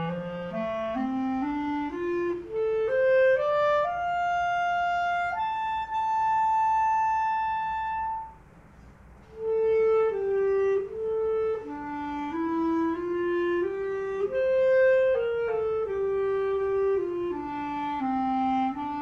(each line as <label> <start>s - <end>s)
clarinet 0.0s - 19.0s